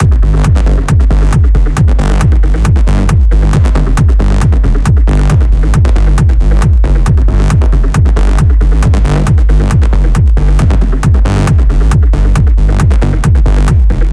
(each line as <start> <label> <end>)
0.0 bass 14.1